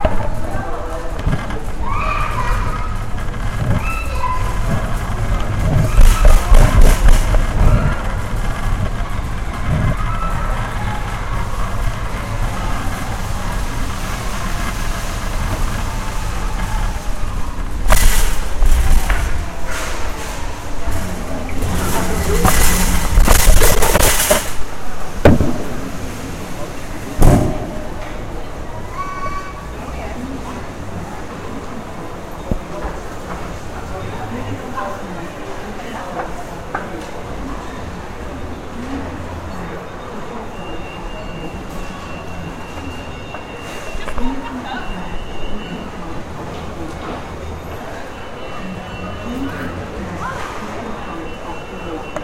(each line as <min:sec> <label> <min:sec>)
0:00.0 moving walkway 0:37.7